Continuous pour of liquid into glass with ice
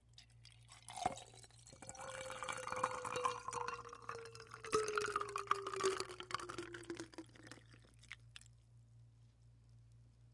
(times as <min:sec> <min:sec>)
0:00.4 0:08.4